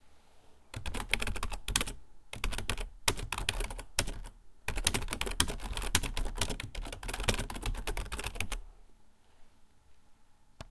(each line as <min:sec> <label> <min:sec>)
0:00.7 typing on a keyboard 0:08.6